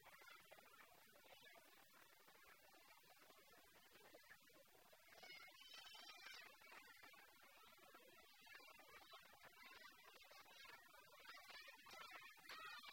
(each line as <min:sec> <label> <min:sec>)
0:05.0 children 0:12.9